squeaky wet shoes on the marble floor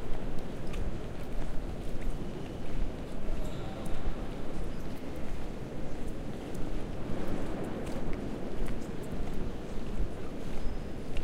10.6s 11.2s

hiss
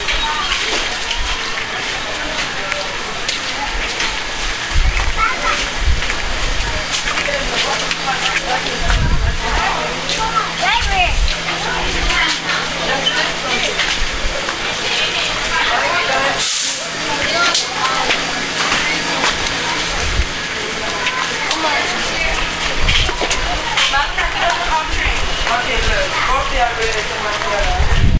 16.4s 16.9s

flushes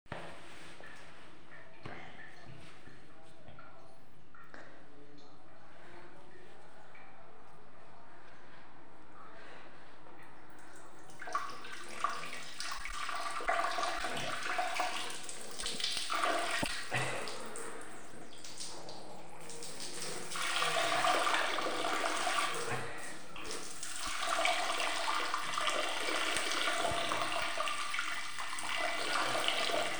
10.5s 29.9s

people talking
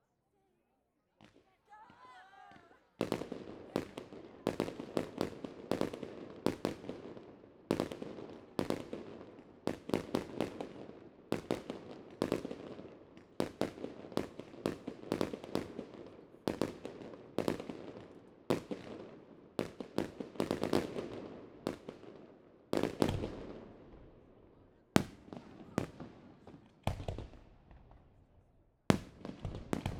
1.4s 2.8s

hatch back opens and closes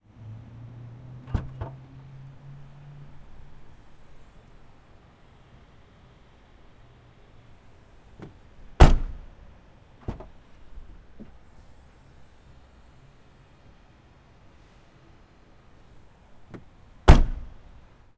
8.2s 9.3s, 16.5s 17.6s

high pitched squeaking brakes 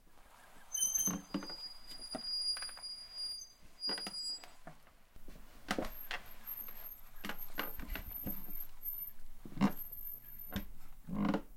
0.5s 4.6s, 6.0s 9.2s, 9.8s 10.6s

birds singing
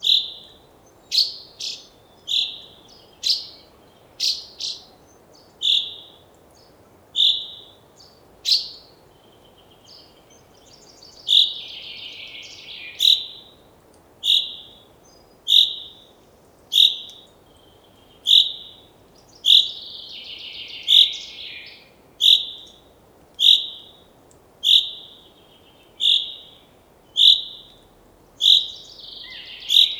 16.8s 22.8s, 24.6s 29.9s

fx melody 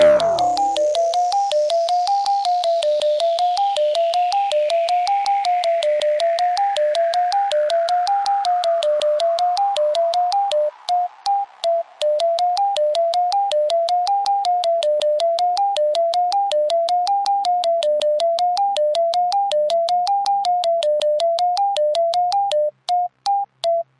0.0s 2.0s

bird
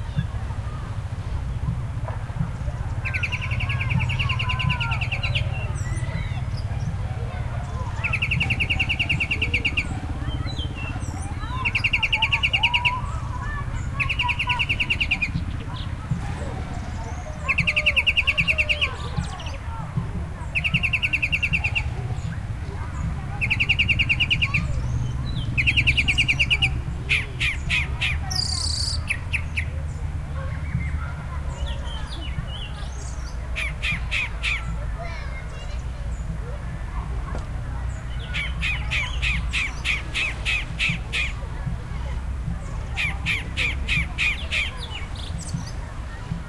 2.8s 19.6s, 20.4s 36.3s, 37.3s 41.4s

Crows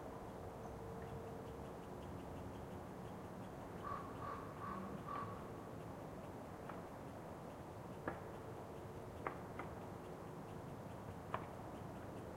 3.8s 5.5s

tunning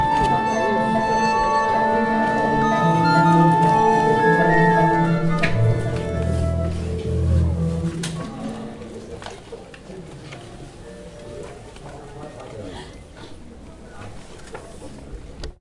0.0s 9.2s

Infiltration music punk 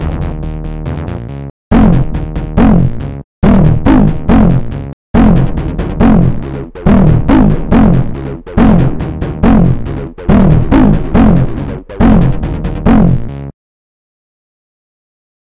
1.7s 13.4s

